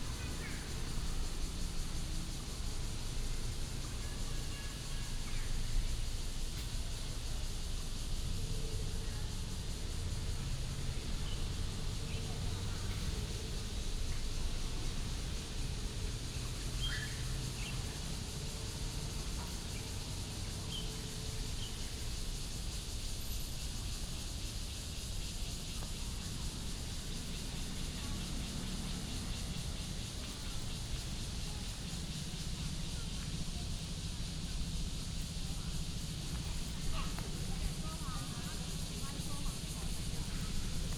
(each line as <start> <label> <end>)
0.0 Cicadas cry 40.9
9.7 Traffic Sound 19.5
16.6 Bird calls 17.8
23.8 Traffic Sound 40.9